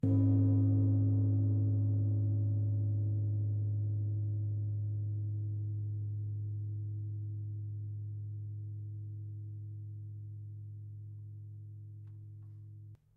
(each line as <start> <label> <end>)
0.0 descending series of gong strikes 6.1